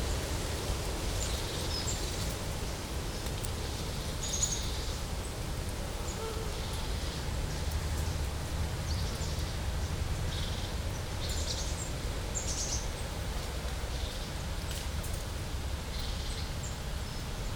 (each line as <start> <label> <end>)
0.0 quiet forest sounds 17.5